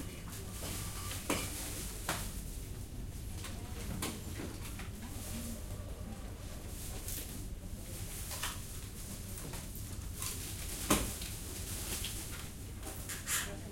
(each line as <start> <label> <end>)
0.0 people working and people buying 13.7